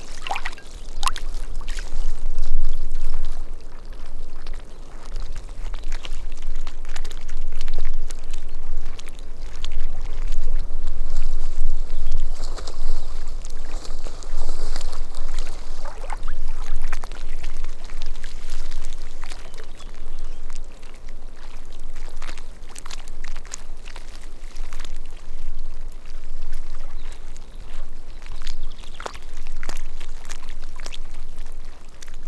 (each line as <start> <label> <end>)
0.0 Water lapping against rapidly thawing ice on lake 32.2